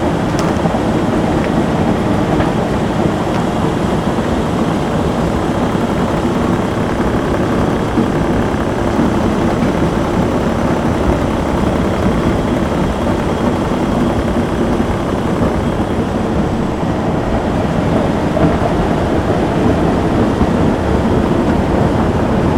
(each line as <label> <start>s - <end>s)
Excavator machinery powering the bucket wheel 0.0s - 18.7s